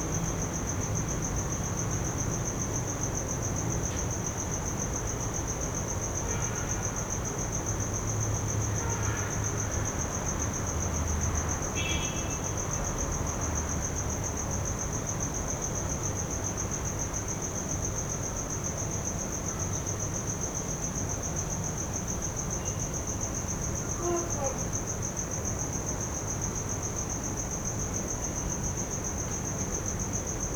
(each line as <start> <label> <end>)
24.0 calling for papa 24.7